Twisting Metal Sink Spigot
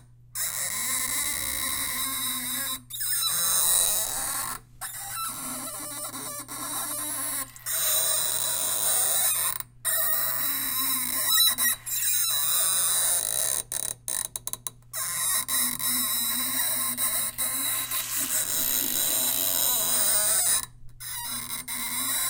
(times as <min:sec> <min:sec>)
0:16.7 0:20.0